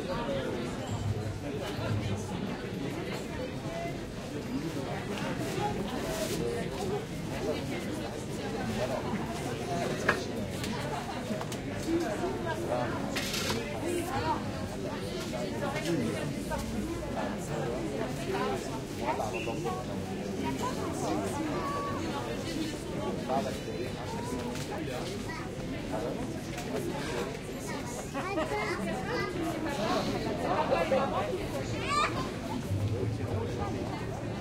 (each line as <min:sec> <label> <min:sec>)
0:00.0 people are having a drink outside 0:34.4